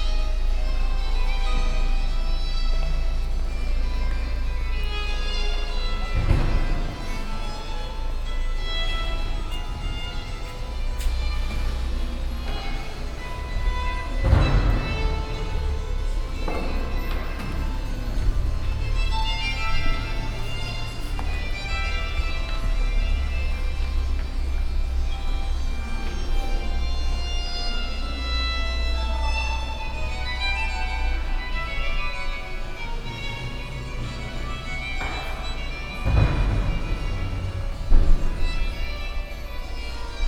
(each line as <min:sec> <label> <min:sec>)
0:00.0 Renaissance music 0:40.2
0:00.0 visitors in the big church hall 0:40.2